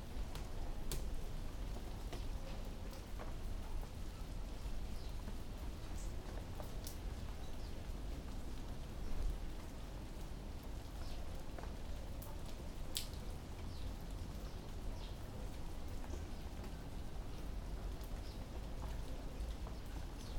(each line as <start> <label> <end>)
0.0 Heavy rain 20.3